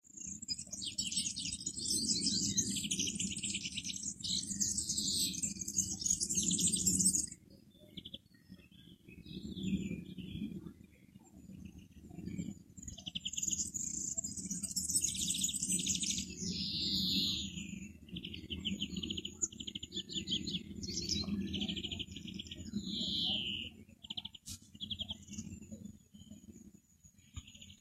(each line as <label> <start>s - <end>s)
birds chirping 0.1s - 10.6s
birds chirping 11.4s - 26.6s
birds chirping 27.2s - 27.8s